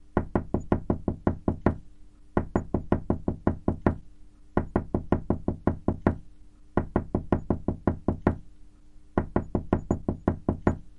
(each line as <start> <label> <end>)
0.2 knocking on a door gradually increasing in volume 1.8
2.4 knocking on a door gradually increasing in volume 4.0
4.6 knocking on a door gradually increasing in volume 6.2
6.8 knocking on a door gradually increasing in volume 8.4
9.2 knocking on a door gradually increasing in volume 10.9